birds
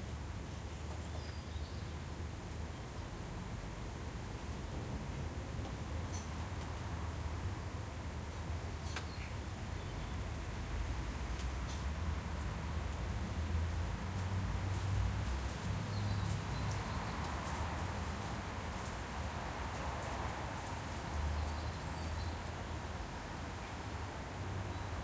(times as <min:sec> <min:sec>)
0:14.8 0:18.9